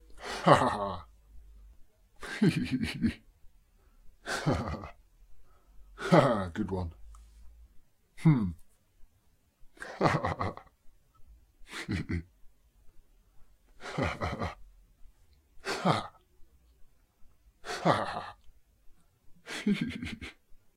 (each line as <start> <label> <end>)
0.2 Laughing (Low) 1.2
2.2 Laughing (Low) 3.3
4.2 Laughing (Low) 5.0
6.0 Laughing (Low) 6.6
9.8 Laughing (Low) 10.8
11.6 Laughing (Low) 12.4
13.8 Laughing (Low) 14.7
15.6 Laughing (Low) 16.2
17.6 Laughing (Low) 18.5
19.4 Laughing (Low) 20.6